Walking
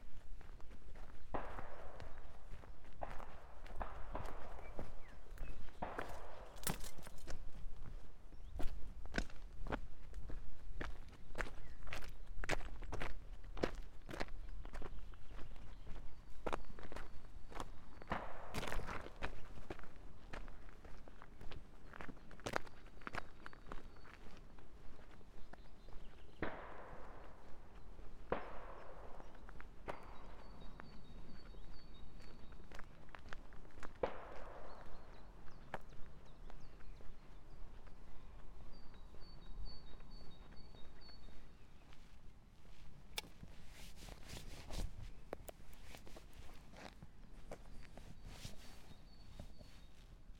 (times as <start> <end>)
0.0 25.7, 39.9 50.0